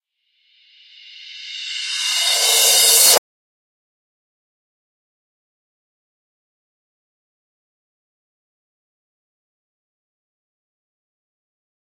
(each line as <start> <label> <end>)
0.6 Reverse Cymbals 3.2